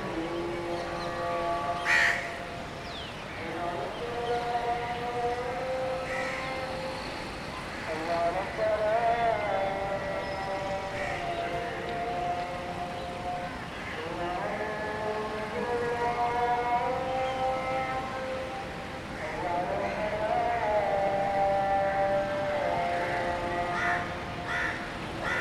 0.0s Birds 21.0s
0.0s Evening Azhan 25.4s
22.2s Birds 25.4s

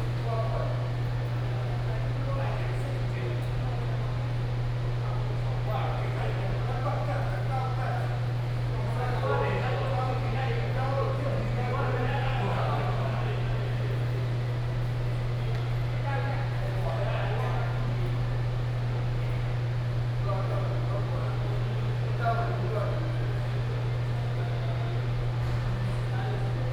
0.0s Air conditioning noise 26.7s
5.0s Group of elderly people in the chat 14.4s

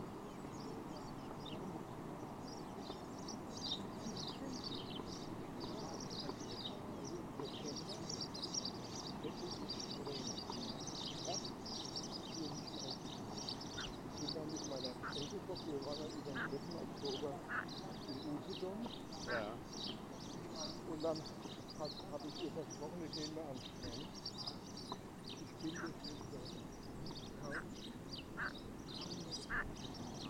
0.0s frogs 22.6s
26.7s frogs 30.2s

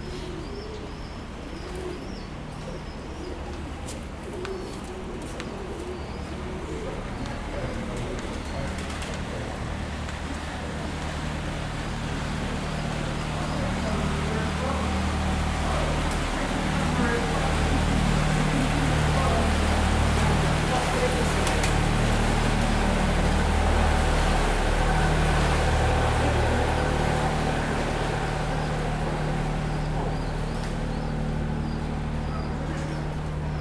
0.0s baby pigeons 10.2s
0.0s boat passing 33.6s
0.0s distant chatting 33.6s
26.5s baby pigeons 33.6s

